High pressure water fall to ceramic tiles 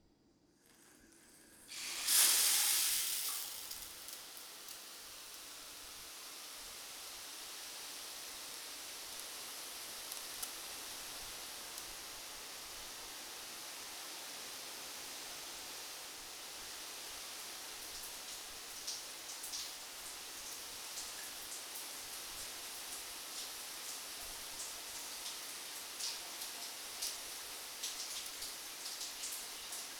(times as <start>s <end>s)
1.7s 4.8s